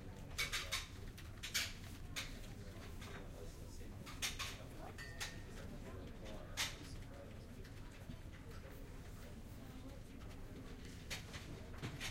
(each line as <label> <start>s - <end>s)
people using the internet terminals 0.0s - 12.1s